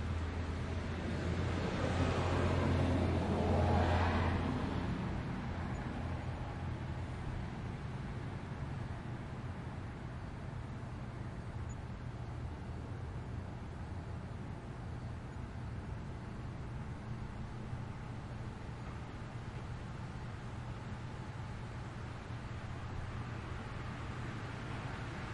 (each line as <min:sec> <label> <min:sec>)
0:00.0 several loud vehicles pass 0:10.0
0:00.0 neighborhood hum 0:25.3
0:00.0 nighttime traffic 0:25.3